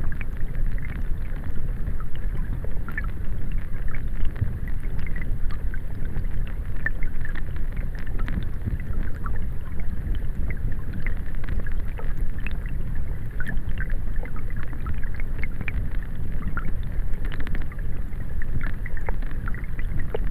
stream 0.0 - 20.3

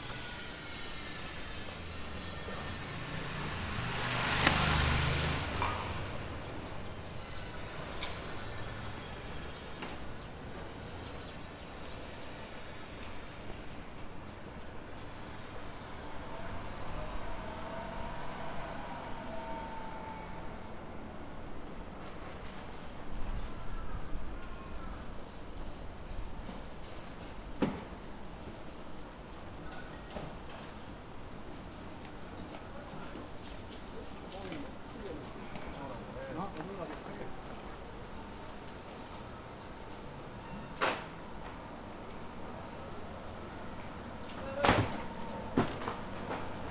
working machines 0.0 - 14.4

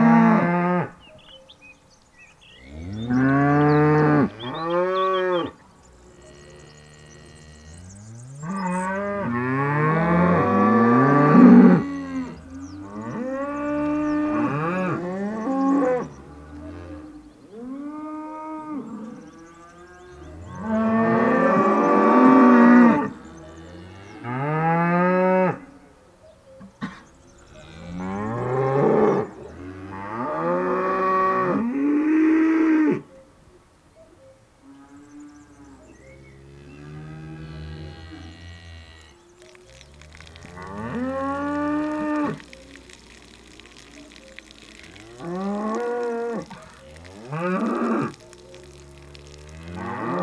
Hungry cows 0.0 - 50.2

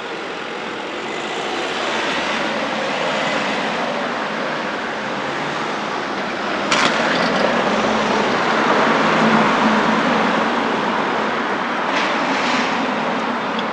bicyclists riding through 0.0 - 13.7
pedestrians walking and chatting 0.0 - 13.7

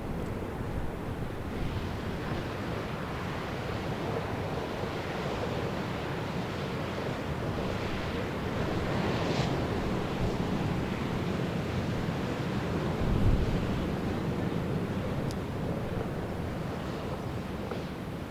Waves 0.0 - 18.3

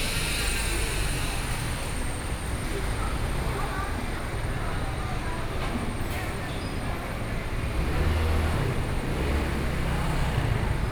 Traffic Sound 7.0 - 10.9

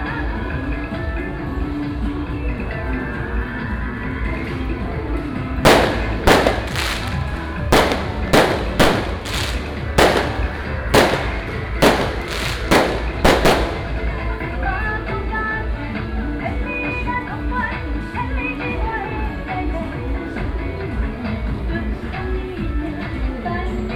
firecrackers 4.4 - 14.8
Fireworks 5.6 - 14.5

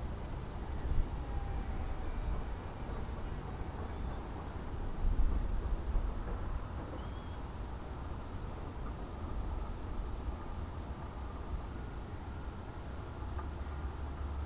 Birds 6.9 - 7.5

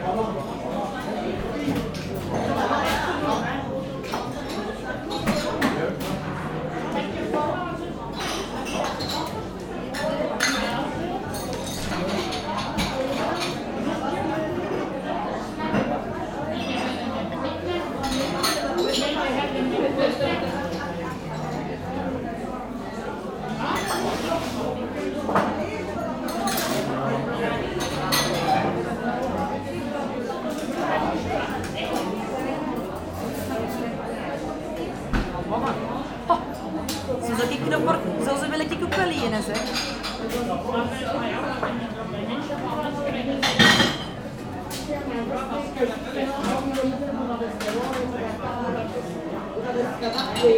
many elderly people having a good time 0.0 - 50.5

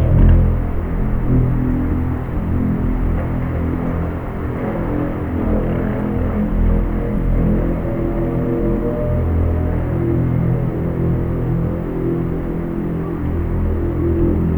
soundscape heard through a long plastic pipe 0.0 - 14.5

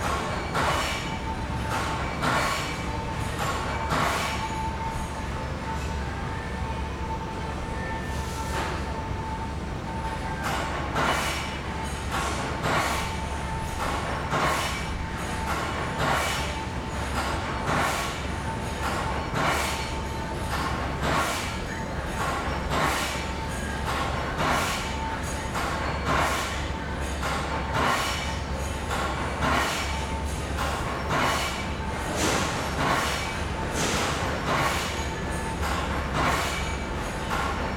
voice of the factory 0.0 - 37.7

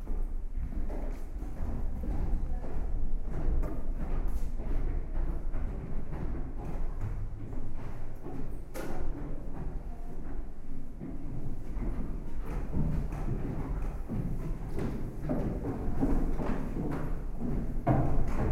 steps 0.0 - 18.5

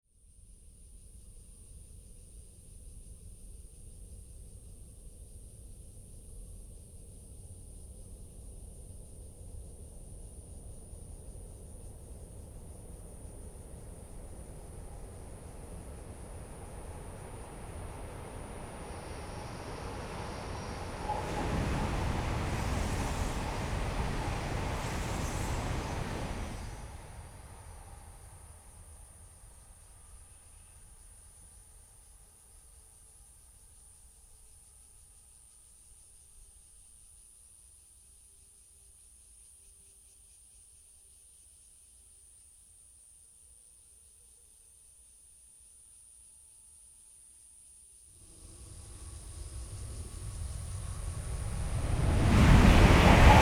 The train passes through 9.4 - 31.0
Cicadas sound 10.6 - 32.7
Cicadas sound 47.5 - 53.4
The train passes through 48.2 - 53.4

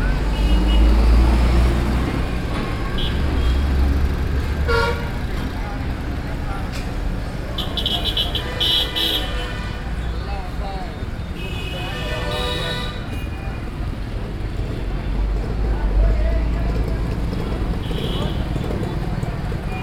crowd 5.0 - 19.8

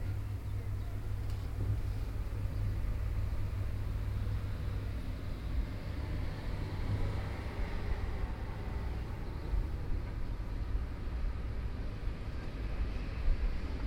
draught in the corridor 0.0 - 13.8

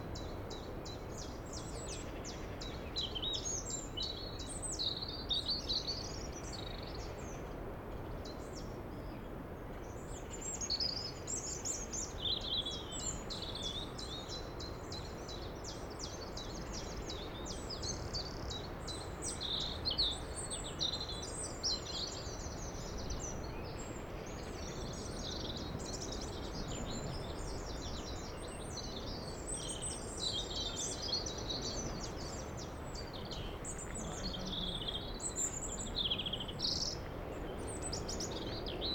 Birds 0.0 - 38.9
distant Sea 11.1 - 38.9

